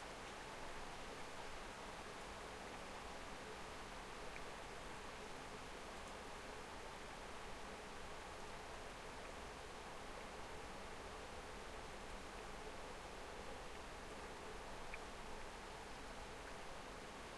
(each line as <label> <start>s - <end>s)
rain 0.0s - 17.3s